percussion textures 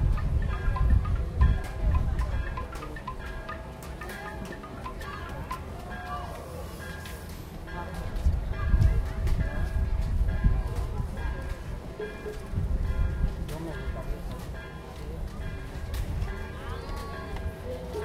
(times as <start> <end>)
0.0 8.6